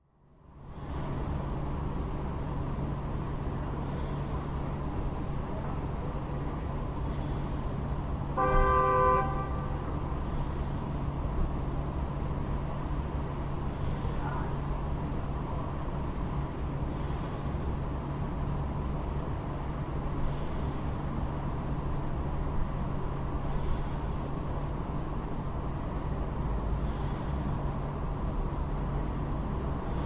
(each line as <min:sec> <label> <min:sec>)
0:00.0 engine 0:30.0
0:00.6 breath 0:01.4
0:03.7 breath 0:04.8
0:06.9 breath 0:08.0
0:08.4 two honks 0:09.8
0:09.6 breath 0:11.2
0:13.6 breath 0:14.6
0:16.8 breath 0:18.0
0:20.0 breath 0:21.7
0:23.3 breath 0:24.4
0:26.6 breath 0:28.0
0:29.7 breath 0:30.0